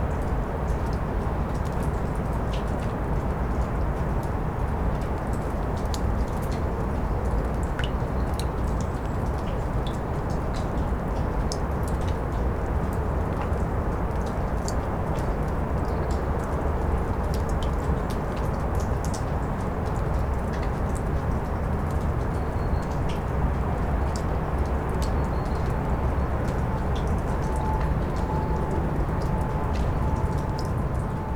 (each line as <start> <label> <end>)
0.0 cacophony of cityscape 31.3